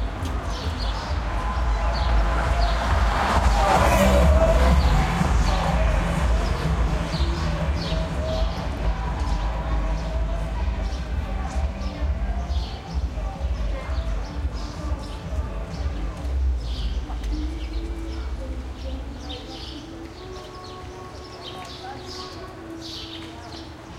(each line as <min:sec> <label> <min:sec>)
0:00.0 birds 0:03.3
0:00.0 cars pass real bumpy 0:09.6
0:00.0 faint radio music 0:23.9
0:03.9 birds 0:23.9